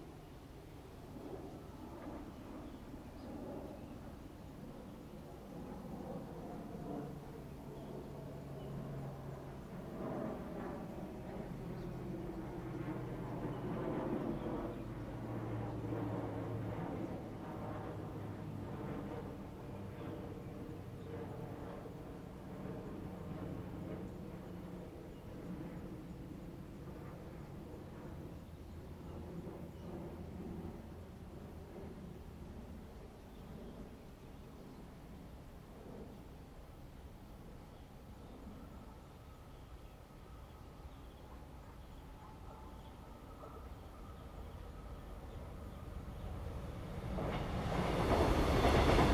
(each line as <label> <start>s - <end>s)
train runs through 43.4s - 49.1s
The plane flew through 45.4s - 49.1s